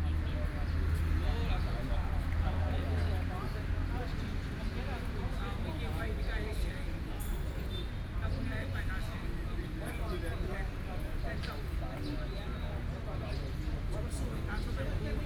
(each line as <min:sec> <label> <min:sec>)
0:00.0 Chat with a group of elderly people 0:15.2